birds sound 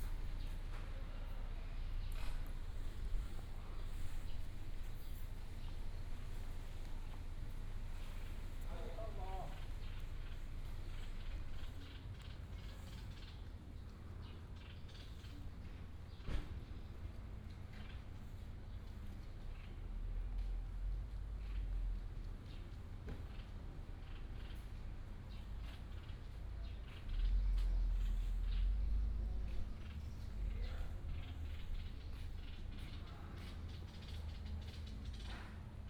7.8 20.4, 21.4 35.8

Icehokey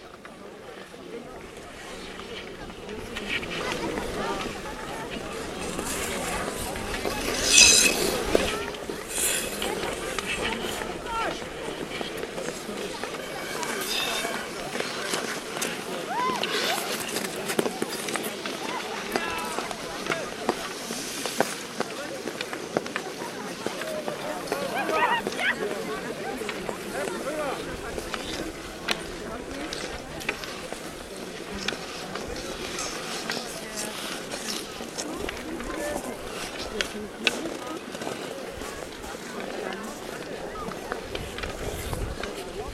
1.8 21.6

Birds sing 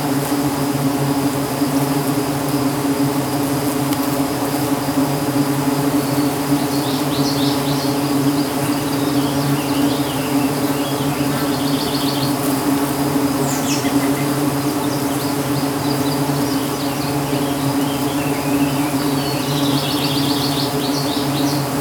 4.6 21.8

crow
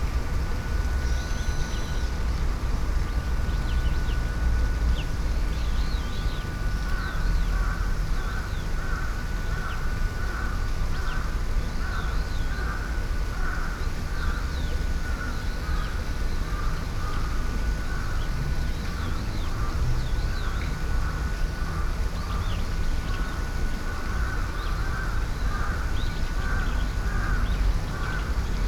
23.2 28.3

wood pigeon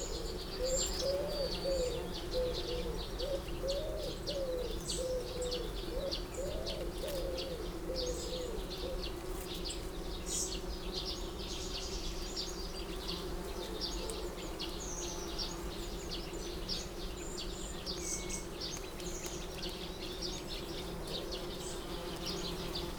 0.0 9.6

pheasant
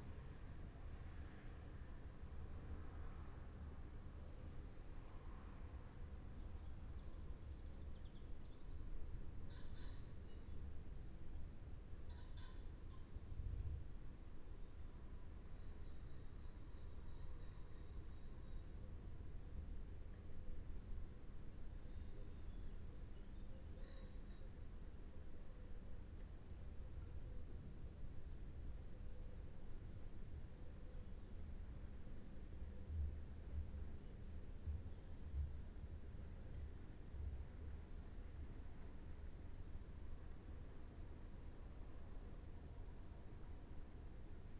9.5 10.5, 12.1 13.2

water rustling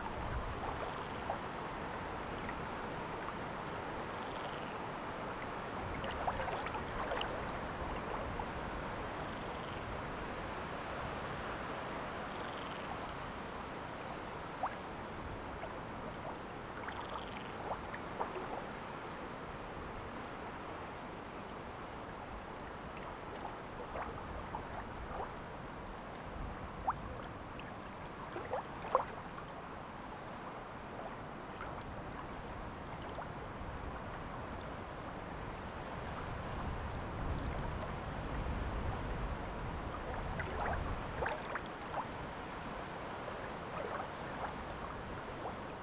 5.3 8.8

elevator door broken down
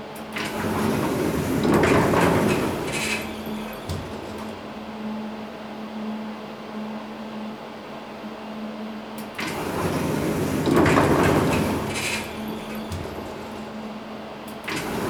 0.6 4.8

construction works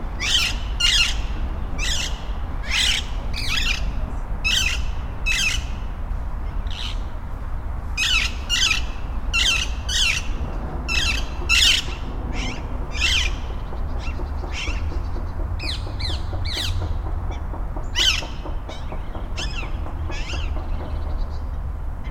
8.9 22.0

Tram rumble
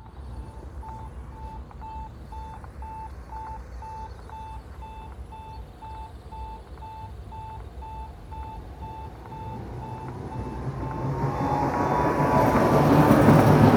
8.8 13.7

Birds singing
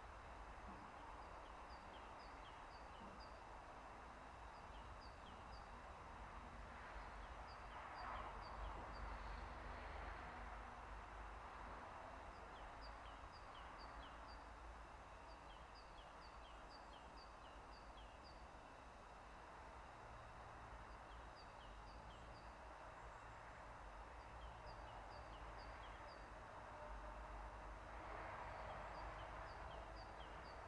0.6 6.0, 12.2 20.2, 20.8 26.4, 28.5 30.6

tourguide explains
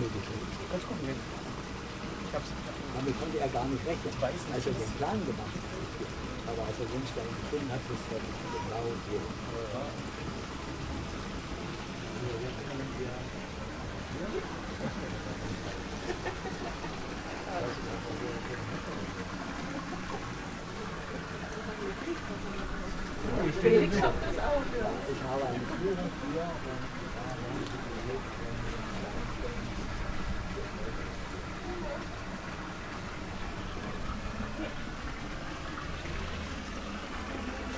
0.0 1.4, 2.3 10.1, 21.4 29.9

